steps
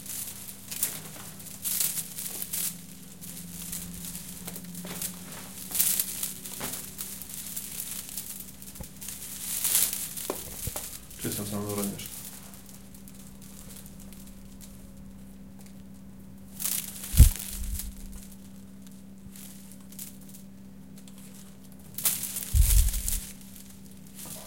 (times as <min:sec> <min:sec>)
0:00.7 0:14.2, 0:17.0 0:18.4, 0:22.3 0:23.4